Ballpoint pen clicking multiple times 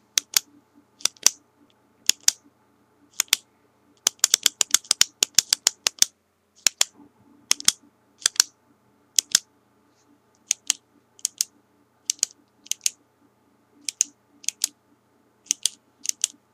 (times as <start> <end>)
0.2 1.4, 2.1 2.4, 3.1 3.4, 4.0 6.9, 7.5 8.5, 9.2 9.4, 10.4 11.5, 12.1 13.0, 13.8 14.7, 15.5 16.4